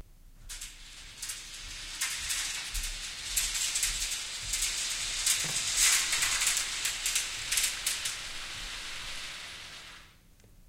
0.5s pulling a scrim that was hung on a track 9.8s

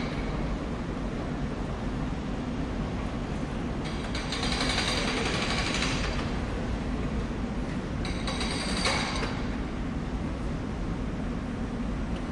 0.0s train coming, stopping and leaving the station 12.3s
3.0s men at work 9.8s

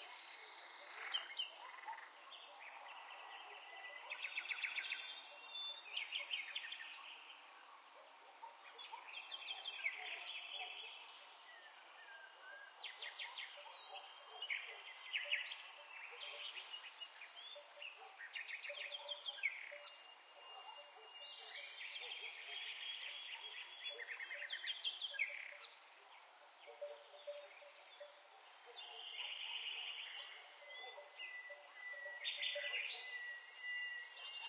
9.9s crickets 34.4s

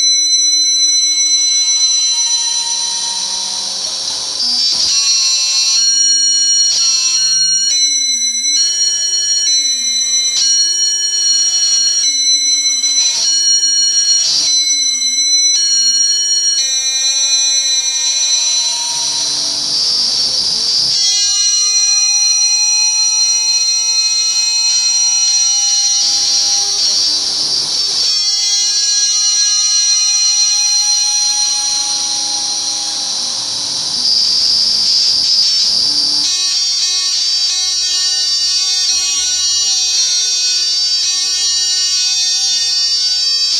25.2s ring modulated guitar noise 36.3s

